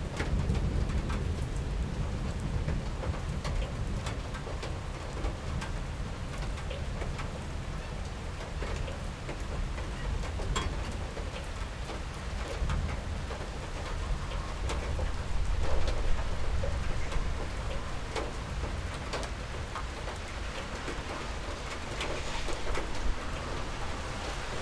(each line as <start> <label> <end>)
0.0 rain on the balcony 24.6
0.0 traffic on wet asphalt 24.6
20.5 thunder 24.6